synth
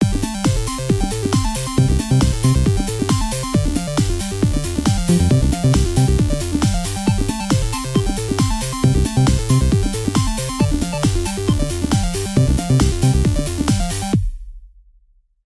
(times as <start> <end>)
4.9 7.2